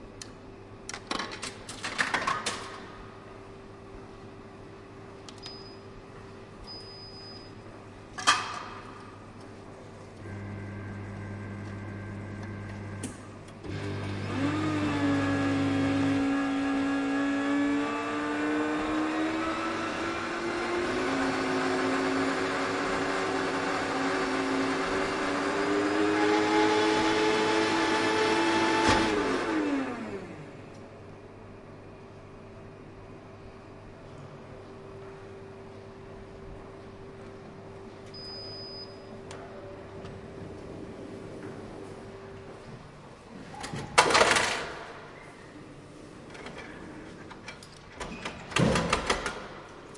coffee machine 0:10.2 - 0:30.5

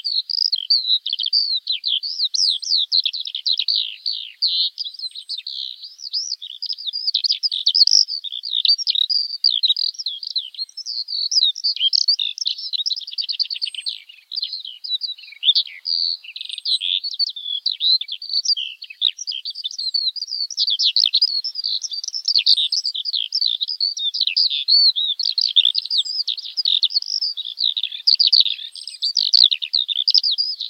skylark singing on the wing 0:00.0 - 0:30.6

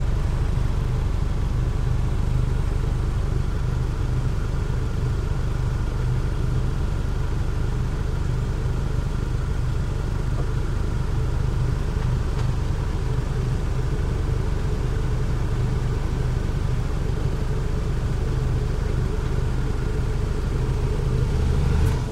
idle mitsubishi lancer exhaust 0:00.0 - 0:22.1
traffic 0:00.0 - 0:22.1

